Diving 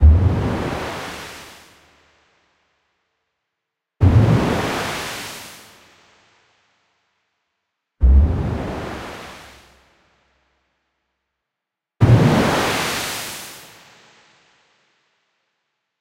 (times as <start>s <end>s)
0.0s 1.0s, 4.0s 5.0s, 8.0s 9.8s